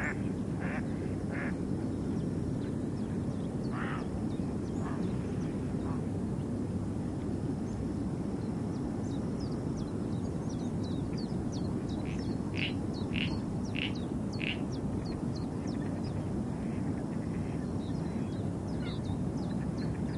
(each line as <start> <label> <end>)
11.9 bird calls 16.2